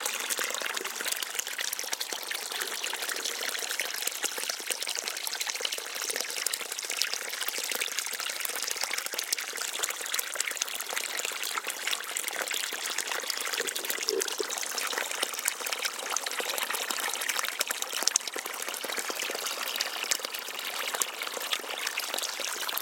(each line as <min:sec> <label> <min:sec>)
0:00.0 Running Water 0:22.8